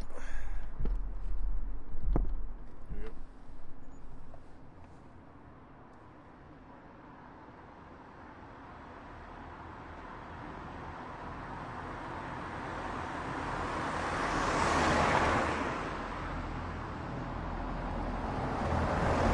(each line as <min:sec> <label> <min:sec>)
0:00.0 bus 0:19.3
0:00.0 van 0:19.3
0:10.0 car bys 0:19.3